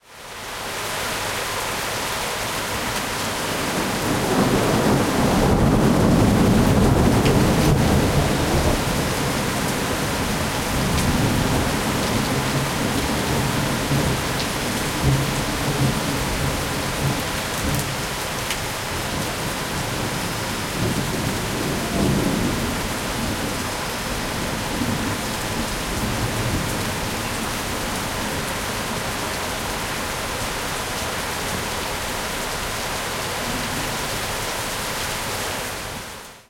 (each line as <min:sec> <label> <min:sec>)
0:00.0 rain 0:36.4
0:03.7 thunder rumbling 0:18.0
0:19.0 thunder rumbling 0:29.2